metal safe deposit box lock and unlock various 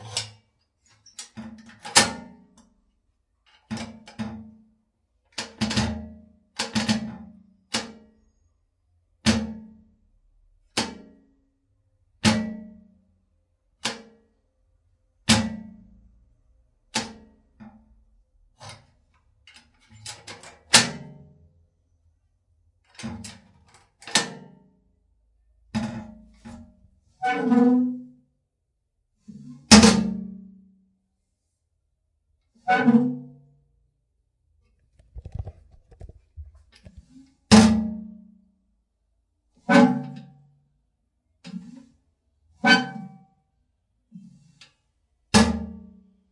19.5s 20.9s

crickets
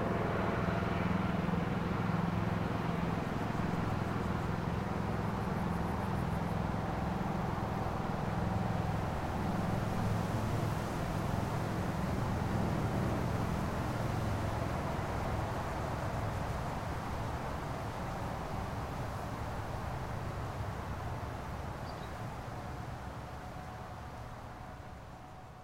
13.9s 25.4s

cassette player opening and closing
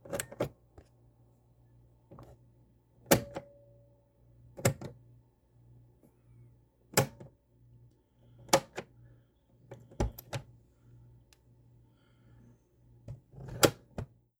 3.1s 3.4s, 10.0s 10.5s, 13.4s 14.0s

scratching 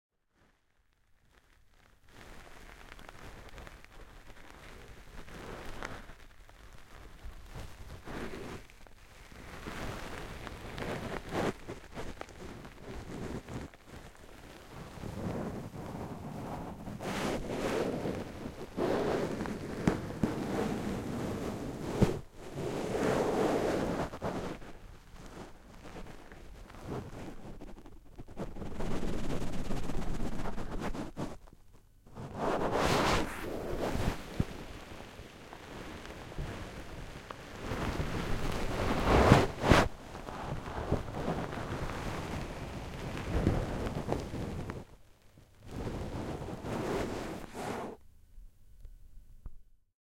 23.0s 36.9s

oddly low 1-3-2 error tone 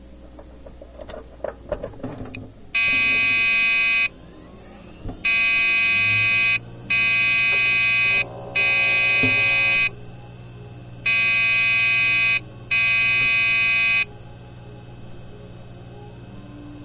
5.2s 10.0s

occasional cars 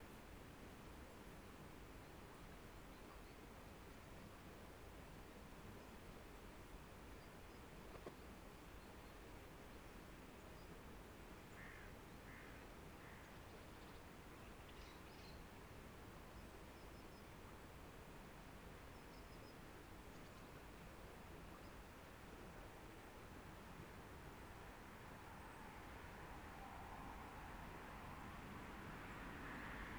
25.1s 29.9s

